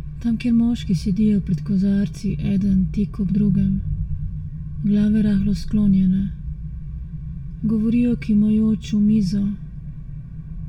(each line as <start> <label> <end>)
0.2 voice 3.9
4.8 voice 6.4
7.6 voice 9.6